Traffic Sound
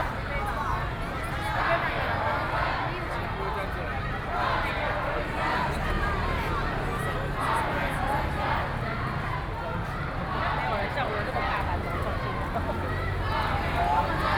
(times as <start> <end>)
4.4 14.3